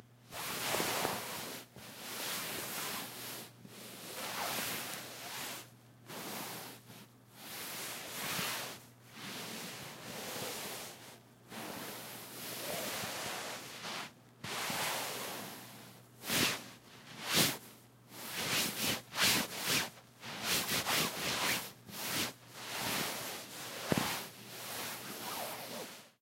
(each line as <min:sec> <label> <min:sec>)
0:00.4 ruffling some sheets on a bed 0:03.4
0:04.1 ruffling some sheets on a bed 0:06.8
0:16.2 ruffling some sheets on a bed 0:17.6
0:18.2 ruffling some sheets on a bed 0:26.2